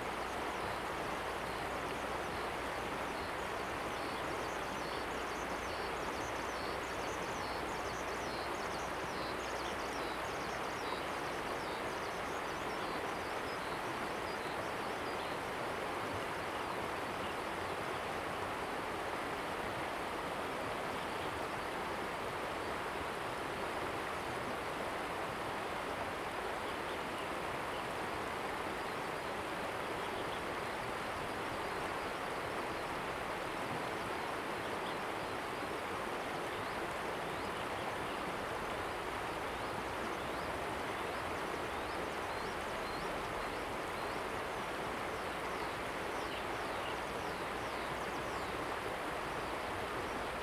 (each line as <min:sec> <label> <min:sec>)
0:17.9 Stream sound 0:50.4